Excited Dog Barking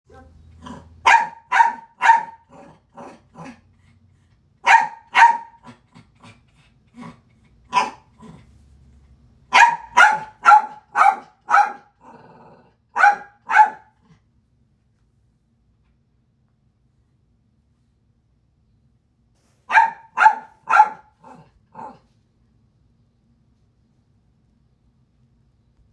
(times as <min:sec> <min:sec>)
0:00.6 0:03.6, 0:04.6 0:05.8, 0:07.7 0:08.2, 0:09.5 0:12.1, 0:12.9 0:14.0, 0:19.7 0:22.0